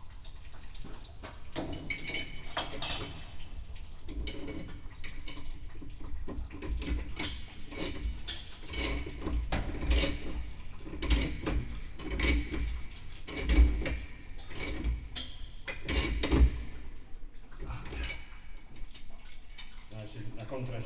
maintenance workers fixing a broken pipe 0.4 - 20.8

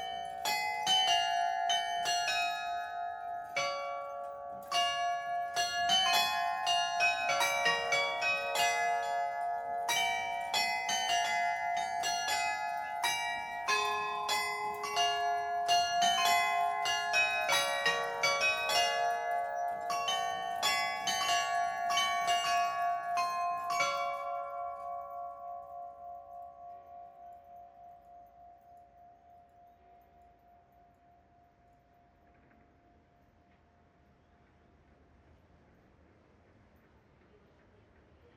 Glockenspiel 0.0 - 34.3

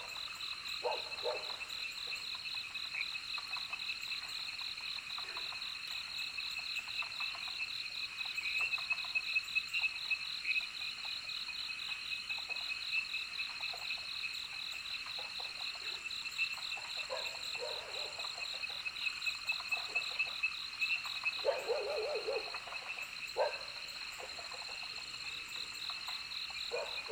Frogs chirping 0.0 - 27.1
Dogs barking 0.8 - 1.6
Insects called 11.9 - 27.1
Dogs barking 17.1 - 18.2
Dogs barking 21.4 - 22.7
Dogs barking 23.4 - 24.4
Dogs barking 26.7 - 27.1

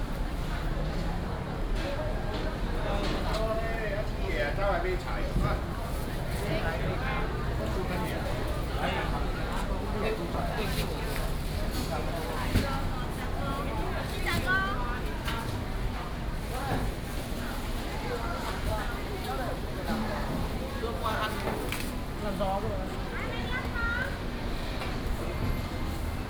Walking in the dusk market 0.0 - 26.2

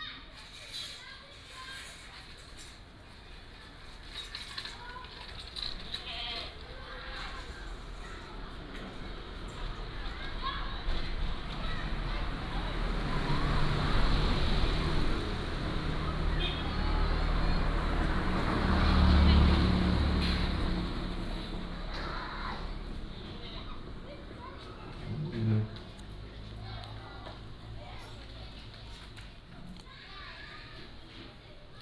Traffic Sound 0.1 - 31.8

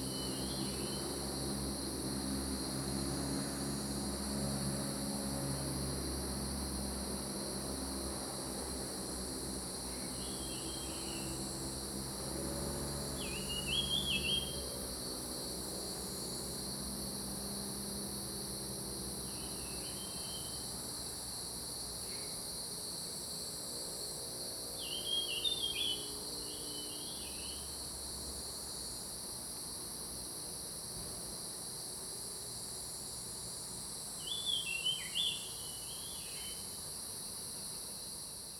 Cicadas sound 0.0 - 38.5

